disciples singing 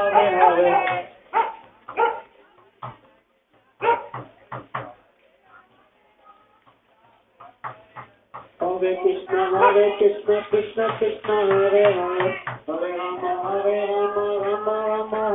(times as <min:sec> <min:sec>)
0:00.0 0:02.1, 0:07.6 0:15.3